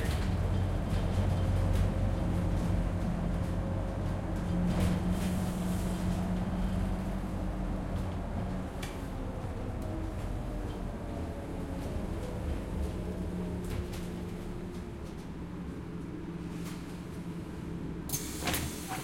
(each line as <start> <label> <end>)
0.0 Bus Int Transit Pull Up 19.0